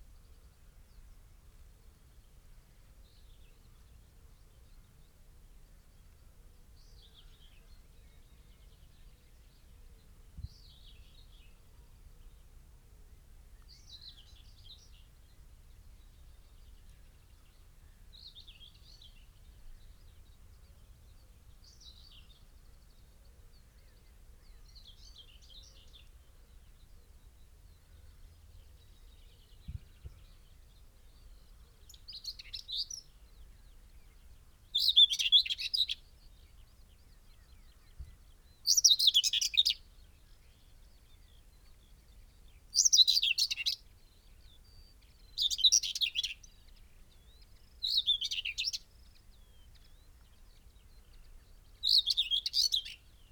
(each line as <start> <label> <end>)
13.2 song thrush 53.3
15.8 pheasant 53.3
16.0 blackbird 53.3